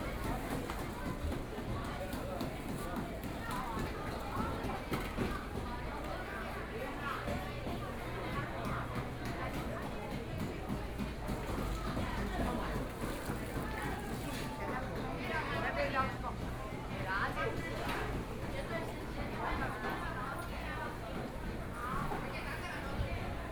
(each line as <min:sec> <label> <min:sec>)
0:00.0 Walking through the market inside 0:23.5